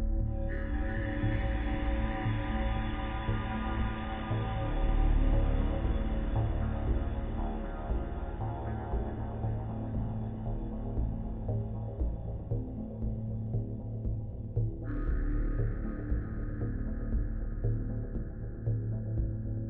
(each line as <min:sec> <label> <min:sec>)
0:00.0 pulsating drone 0:19.6